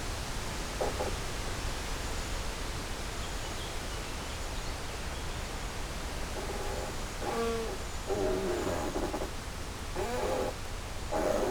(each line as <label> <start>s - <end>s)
creaky tree 6.2s - 11.5s